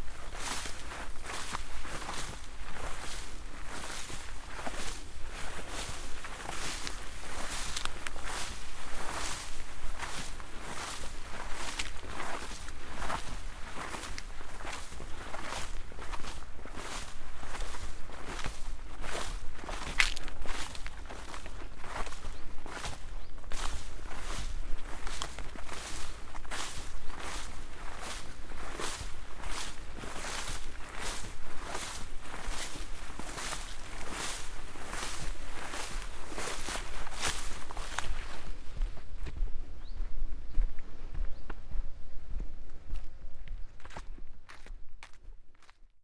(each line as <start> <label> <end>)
0.0 walk through stiff and soft grasses 46.0